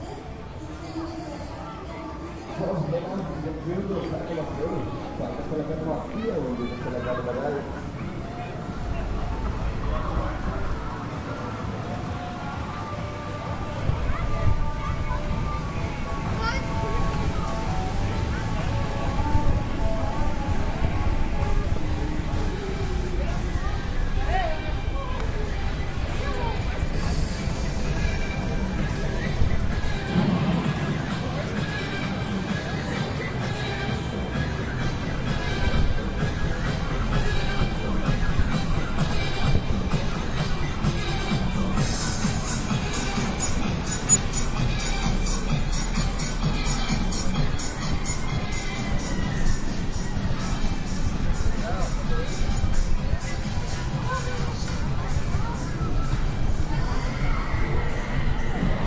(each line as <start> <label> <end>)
0.0 people 58.8